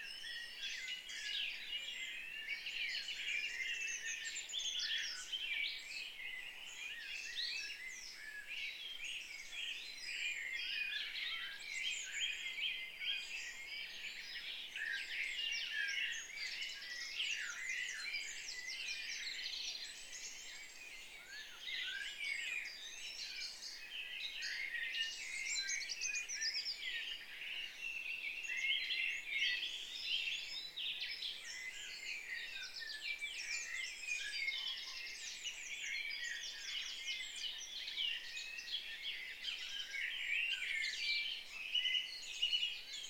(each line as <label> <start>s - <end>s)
birdsong 0.0s - 43.0s